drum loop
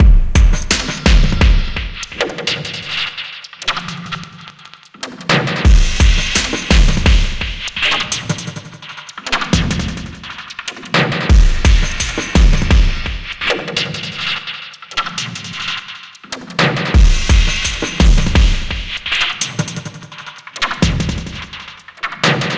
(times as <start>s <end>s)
0.0s 2.4s, 5.6s 8.4s, 9.3s 13.5s, 16.6s 22.5s